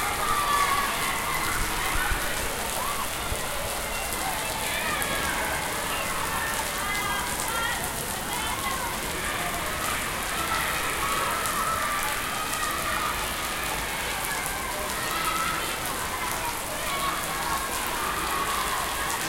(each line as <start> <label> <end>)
0.0 children shouting at the distance 19.2
0.0 rain 19.2